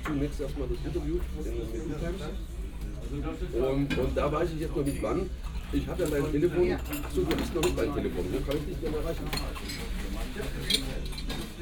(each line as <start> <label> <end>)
0.0 people having breakfast, dinner or beer 11.6